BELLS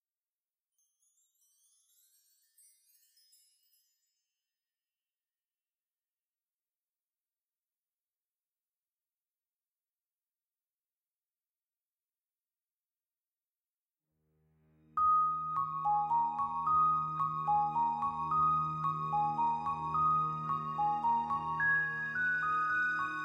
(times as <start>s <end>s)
0.8s 4.4s, 15.0s 23.2s